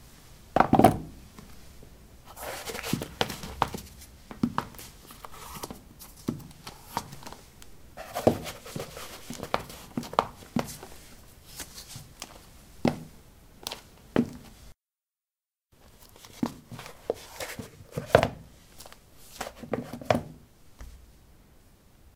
Putting woman's shoes on/off on ceramic tiles 0:02.3 - 0:14.7

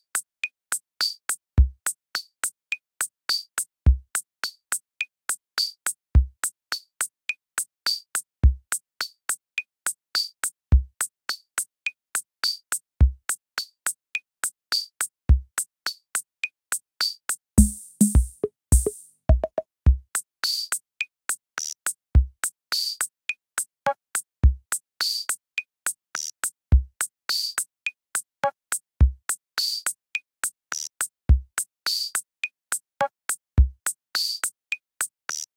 beat machine 0:17.6 - 0:19.6

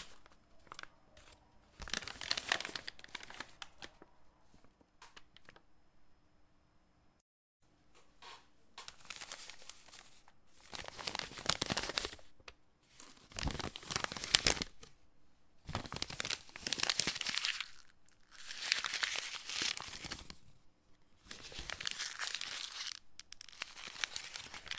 Paper being shuffled around 0:00.0 - 0:05.6
Paper being shuffled around 0:08.9 - 0:12.3

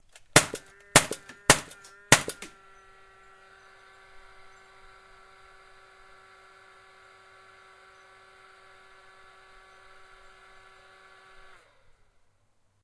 nail gun shooting 4 quick shots into open space 0:00.1 - 0:02.6
motor left to idle 0:00.2 - 0:12.3

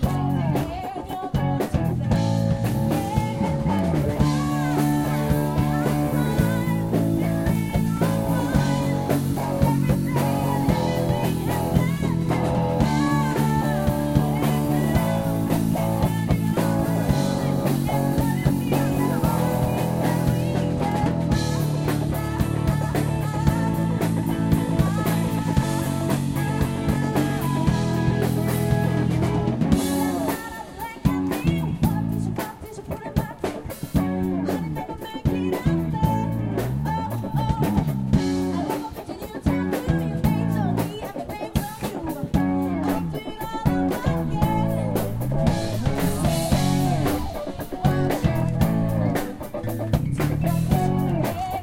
Distortion from the speakers 0:00.0 - 0:51.6
Street music 0:00.0 - 0:51.6
voice 0:00.0 - 0:51.6

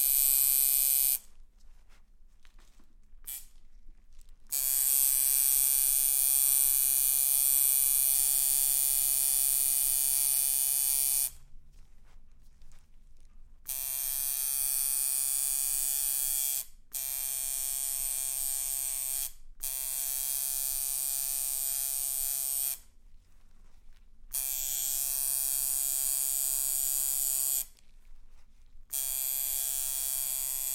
Tattoo maschine 0:00.0 - 0:01.3
Tattoo maschine 0:03.2 - 0:03.6
Tattoo maschine 0:04.5 - 0:11.4
Tattoo maschine 0:13.6 - 0:22.9
Tattoo maschine 0:24.3 - 0:27.8
Tattoo maschine 0:28.9 - 0:30.7

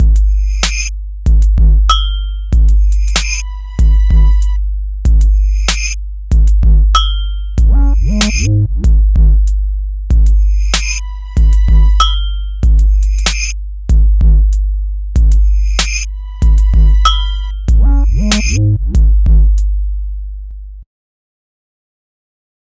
sliding 808s 0:00.0 - 0:00.9
backwards sleigh bells 0:00.2 - 0:00.9
backwards sleigh bells 0:01.9 - 0:04.6
sliding 808s 0:01.9 - 0:19.6
violins 0:03.4 - 0:04.6
backwards sleigh bells 0:05.2 - 0:06.0
backwards sleigh bells 0:07.0 - 0:08.5
backwards sleigh bells 0:10.4 - 0:13.6
violins 0:10.8 - 0:12.1
backwards sleigh bells 0:15.4 - 0:18.6
violins 0:16.1 - 0:18.0

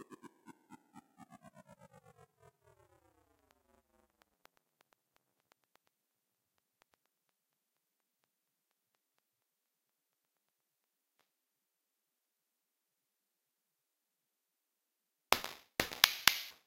simple hi-hat loop 0:15.4 - 0:16.6

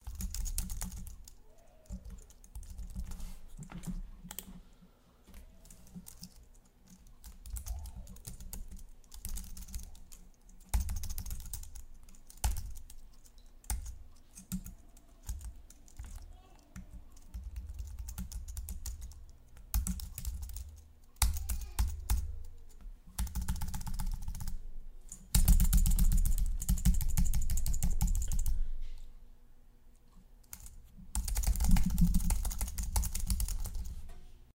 Typing On Keyboard 0:00.0 - 0:03.2
Typing On Keyboard 0:05.6 - 0:24.6
mouse 0:07.5 - 0:08.4
Typing On Keyboard 0:25.2 - 0:28.6
Typing On Keyboard 0:30.4 - 0:34.0

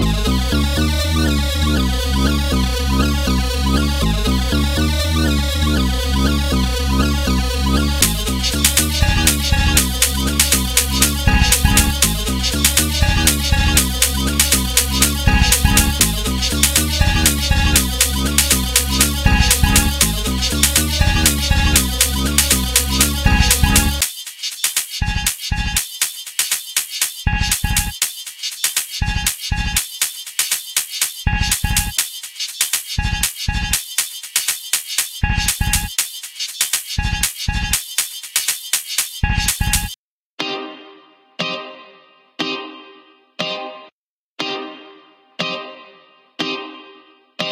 Radio Machine 0:07.9 - 0:24.1

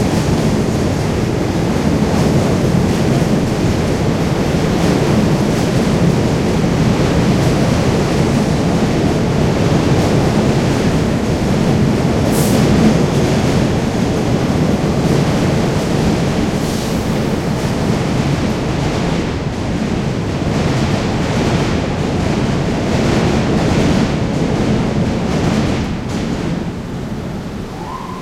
train pass overhead 0:00.0 - 0:28.2
traffic heavy 0:24.5 - 0:28.2

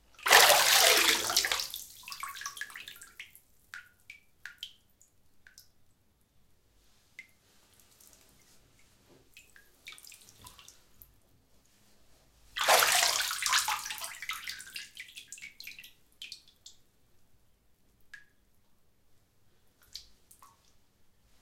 Someone emerging from a bathtub 0:00.2 - 0:01.8
Someone emerging from a bathtub 0:12.6 - 0:13.9

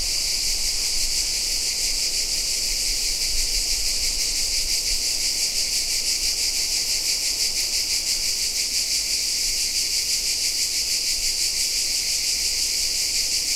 cicadas 0:00.0 - 0:13.5

